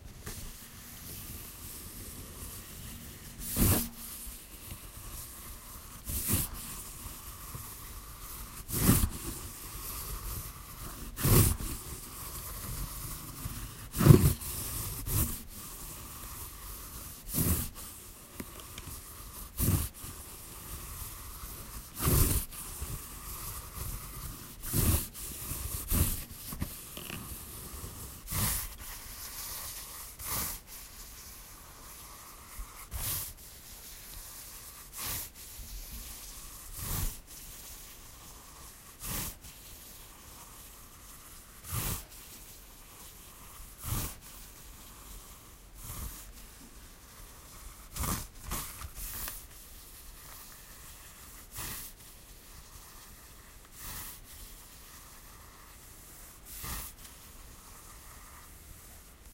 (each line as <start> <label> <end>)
0.2 Moving fingers across the paper with braille text 59.3